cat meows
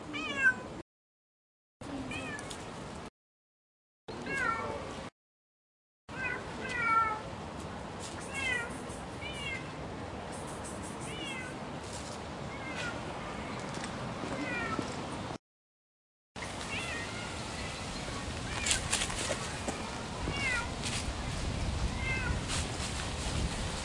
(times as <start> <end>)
11.1 11.6, 20.2 20.7, 22.0 22.5